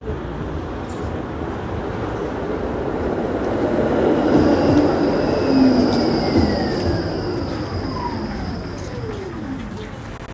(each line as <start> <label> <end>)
0.0 Tram arrival and departure sequences 10.3
0.2 passing cars 9.8
4.1 wheel squeal 10.0